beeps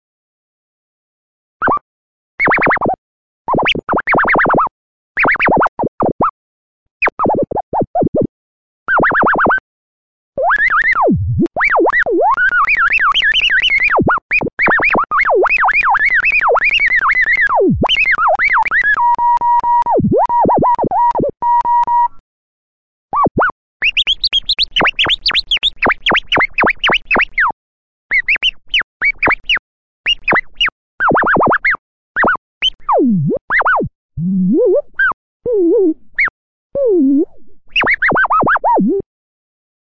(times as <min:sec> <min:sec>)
0:18.9 0:22.2